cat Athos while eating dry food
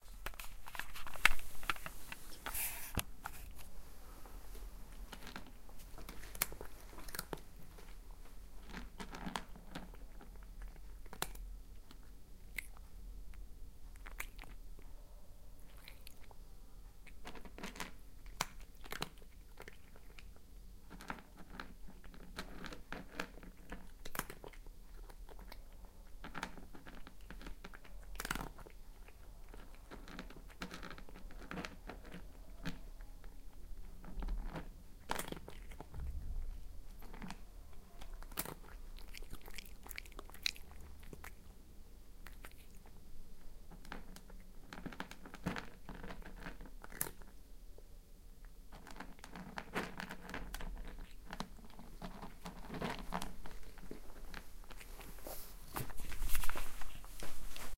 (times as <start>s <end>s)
13.9s 41.6s, 42.2s 47.3s